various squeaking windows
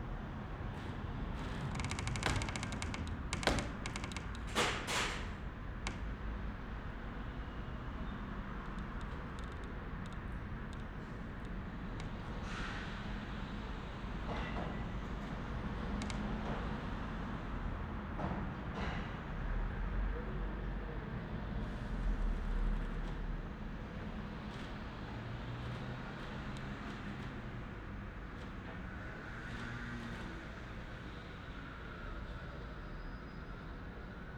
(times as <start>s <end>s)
1.4s 6.0s